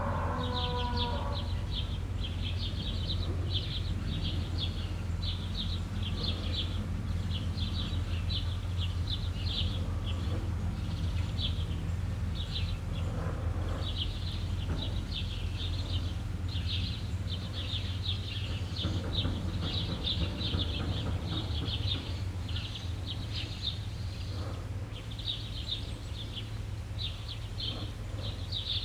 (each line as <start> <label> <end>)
0.0 cow calling 1.6
0.0 birds in the trees 28.8
0.0 light street traffic 28.8